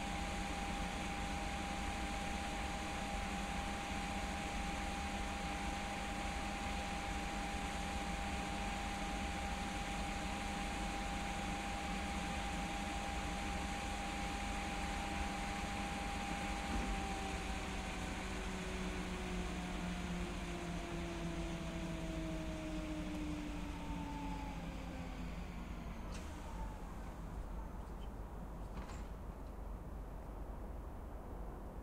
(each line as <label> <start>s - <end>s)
Passage of a freight train 0.0s - 31.8s
Passage of a diesel locomotive 0.0s - 31.8s